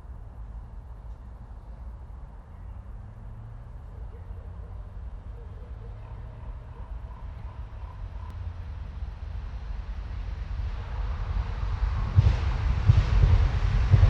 3.7s ravens 8.4s
8.4s powerful train moving fast 14.0s

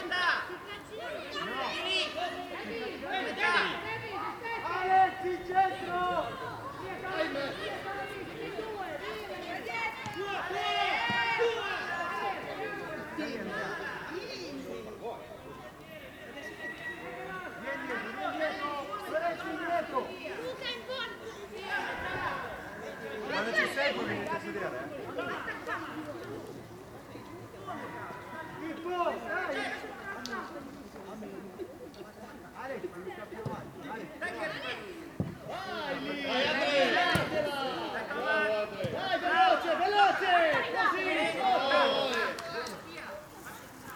0.0s kids training football 43.9s

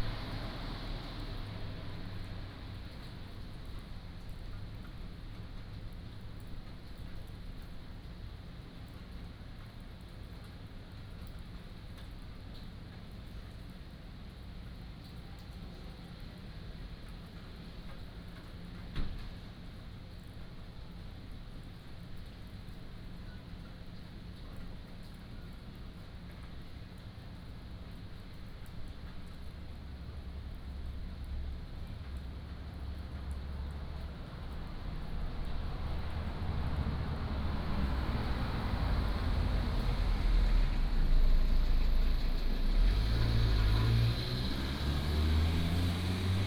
0.0s Traffic Sound 4.7s
0.0s Rain 46.4s
31.2s Traffic Sound 46.4s

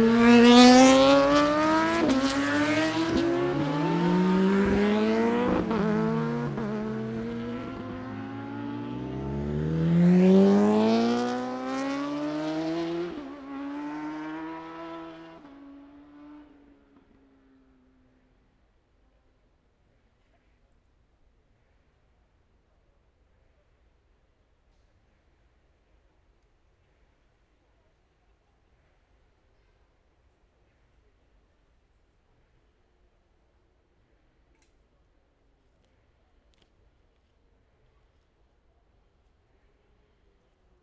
0.0s Motorcycle Road Racing 18.0s

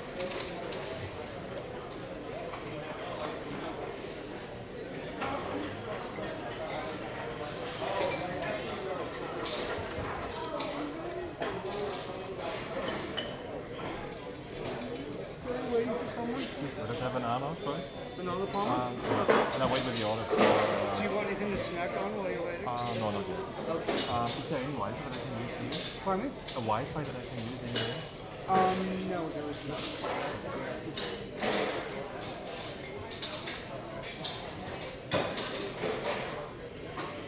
0.1s cutlery and dishes 0.9s
5.2s cutlery and dishes 15.0s
16.9s cutlery and dishes 21.0s
23.8s cutlery and dishes 29.0s
29.6s cutlery and dishes 37.2s

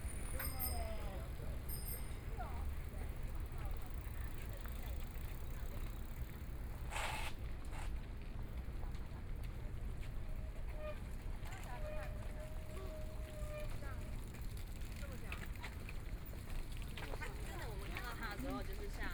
0.0s Bicycle voice 6.2s
0.0s Walking along the track 19.1s

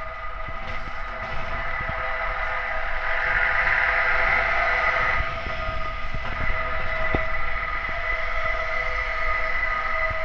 0.0s resonance inside a metal support pole 10.2s

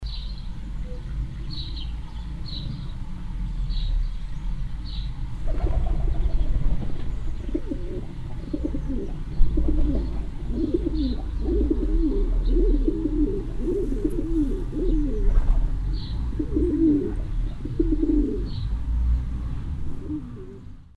4.8s pigeon cage 20.8s

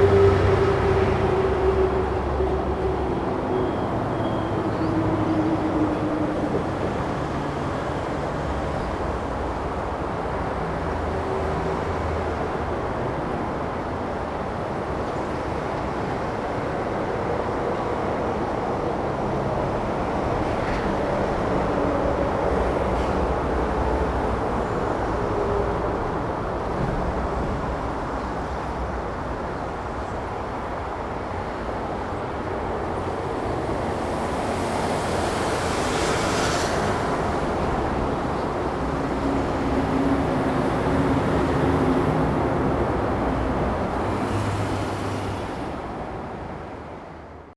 0.0s traffic sound 47.5s

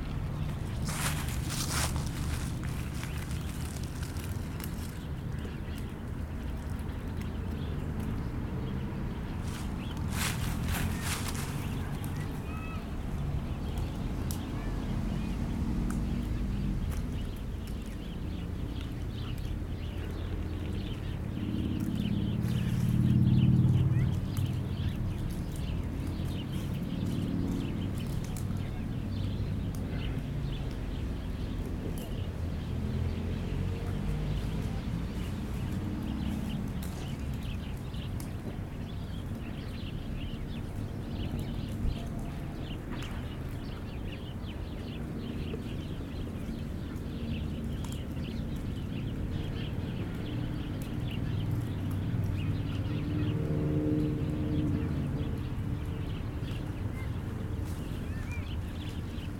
0.0s Bruits de la circulation 52.5s

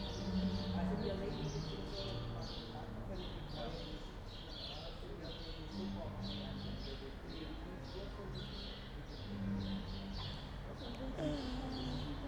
0.0s music from an open window 3.8s
0.0s voices in the street 12.2s

